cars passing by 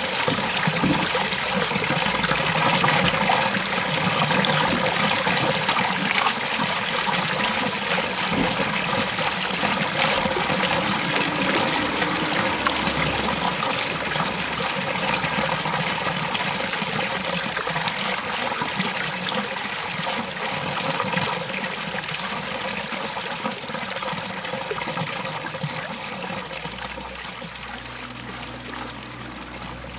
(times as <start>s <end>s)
7.8s 18.3s, 26.4s 29.9s